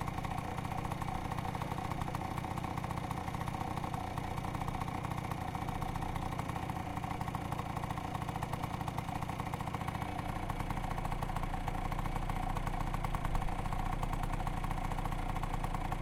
scooter 0:00.0 - 0:16.0

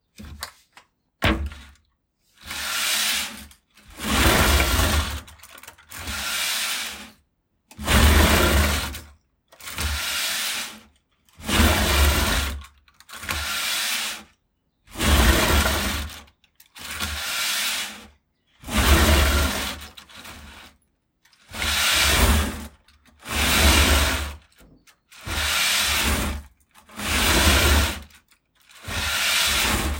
Clean a parquet floor with a hard wicker broom 0:02.4 - 0:07.1
Clean a parquet floor with a hard wicker broom 0:07.8 - 0:09.0
Clean a parquet floor with a hard wicker broom 0:09.6 - 0:14.3
Clean a parquet floor with a hard wicker broom 0:14.9 - 0:16.2
Clean a parquet floor with a hard wicker broom 0:16.8 - 0:20.7
Clean a parquet floor with a hard wicker broom 0:21.5 - 0:24.5
Clean a parquet floor with a hard wicker broom 0:25.1 - 0:28.1
Clean a parquet floor with a hard wicker broom 0:28.8 - 0:29.9

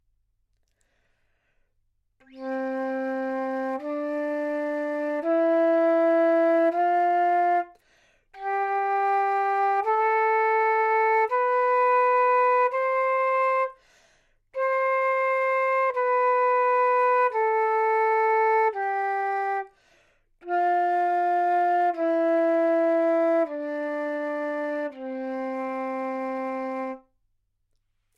flute 0:02.2 - 0:07.8
flute 0:08.4 - 0:13.8
flute 0:14.5 - 0:19.8
flute 0:20.4 - 0:27.2

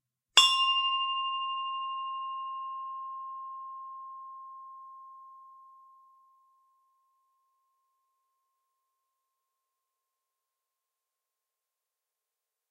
small bronze bell struck with a wooden striker 0:00.4 - 0:06.0

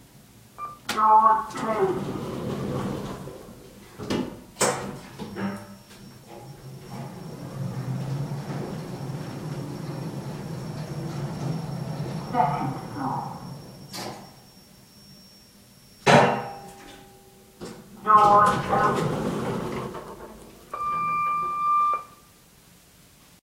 beep 0:00.6 - 0:00.9
announcements 0:00.6 - 0:04.2
doors 0:00.8 - 0:14.4
lift in motion 0:01.5 - 0:14.4
announcements 0:04.8 - 0:14.4
doors 0:16.0 - 0:22.1
announcements 0:18.0 - 0:19.9
beep 0:20.7 - 0:22.2

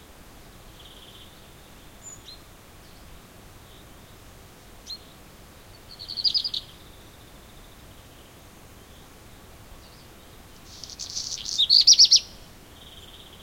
black redstart 0:00.0 - 0:13.4

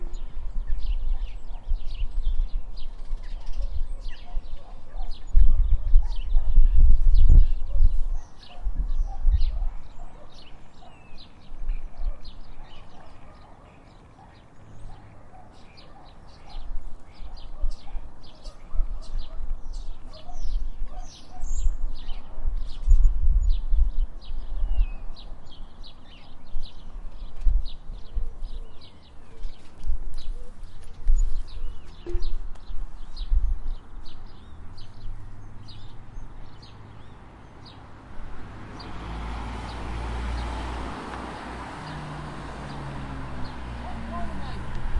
car passing in distance 0:34.3 - 0:44.9

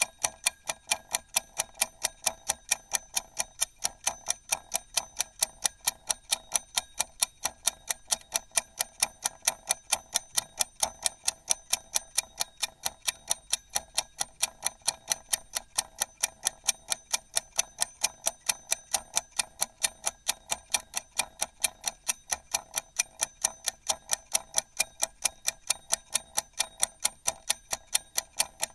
Kitchen timer 0:00.0 - 0:28.7

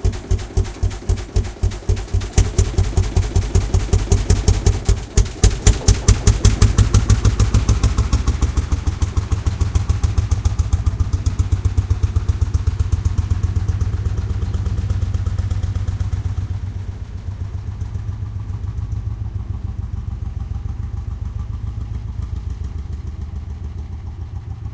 chitty bang sound 0:00.0 - 0:10.2
acceleration 0:00.0 - 0:24.7

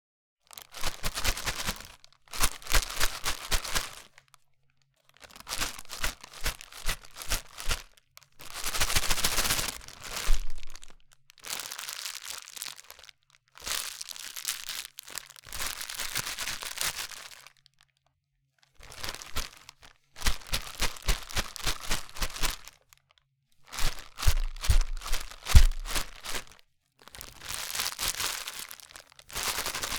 Shaking a plastic bag of candy 0:00.6 - 0:04.2
Shaking a plastic bag of candy 0:05.2 - 0:17.6
Shaking a plastic bag of candy 0:18.8 - 0:22.8
Shaking a plastic bag of candy 0:23.6 - 0:26.6
Shaking a plastic bag of candy 0:27.2 - 0:29.9

